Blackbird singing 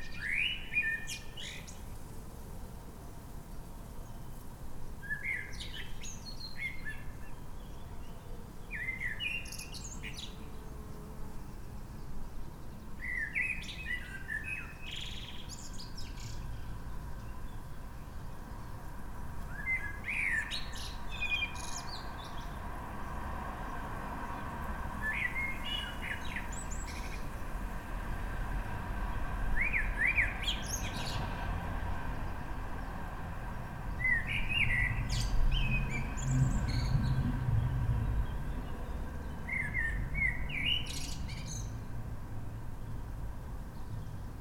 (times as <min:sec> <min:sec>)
0:00.0 0:01.8, 0:05.0 0:10.5, 0:13.0 0:16.6, 0:19.5 0:22.6, 0:25.0 0:27.3, 0:29.6 0:31.2, 0:34.0 0:41.8